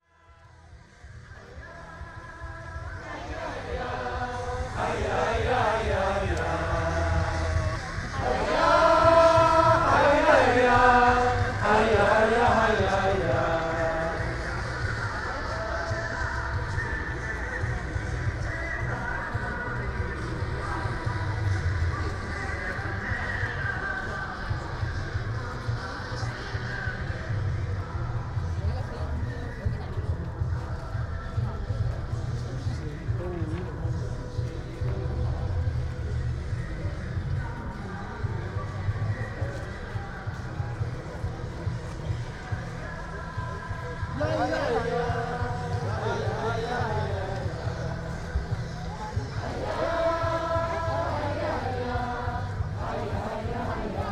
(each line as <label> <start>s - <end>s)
voices of the crowd chanting and calling out 0.0s - 54.1s